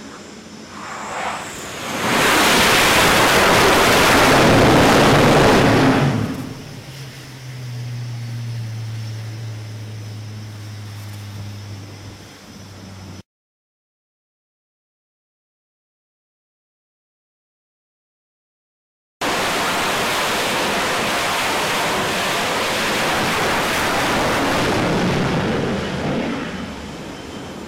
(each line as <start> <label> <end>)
0.0 Jet Fighters 11.6
0.0 Helicopter 13.2
19.2 Helicopter 27.6
19.2 Jet Fighters 27.6